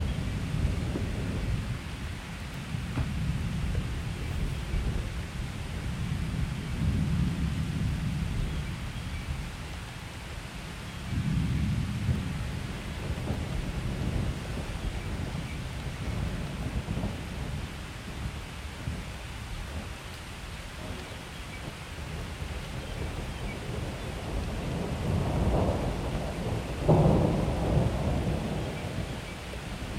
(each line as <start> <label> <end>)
0.0 thunder 1.8
0.0 rain 29.9
0.0 wind 29.9
2.7 thunder 8.6
11.1 thunder 18.2
22.7 thunder 29.4